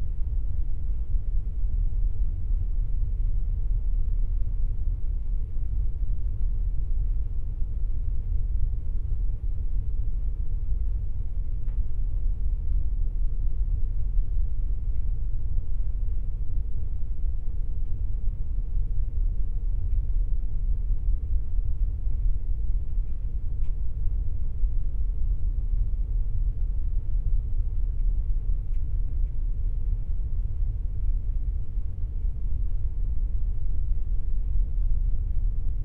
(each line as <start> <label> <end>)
0.0 engine 35.8